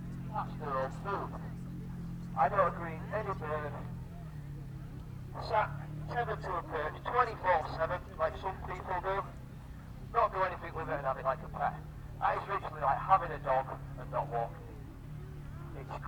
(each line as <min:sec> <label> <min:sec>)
0:10.1 falconer with radio mic through the PA system 0:14.6